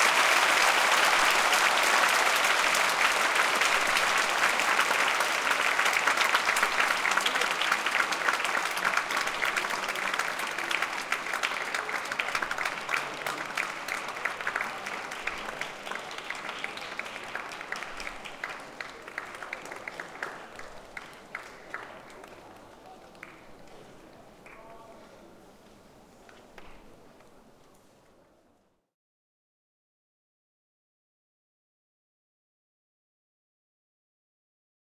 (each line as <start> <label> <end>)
0.0 applause 25.1
26.3 applause 27.6